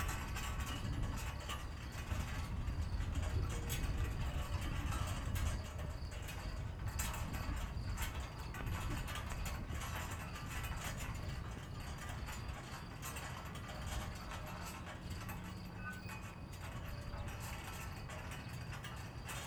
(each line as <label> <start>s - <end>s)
construction sound from far away 0.0s - 19.4s
rattling and squeeking flagpoles 0.0s - 19.4s
wind 0.0s - 19.4s